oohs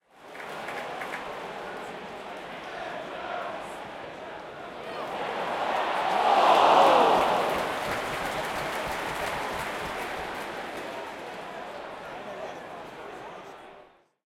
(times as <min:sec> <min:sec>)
0:06.0 0:07.8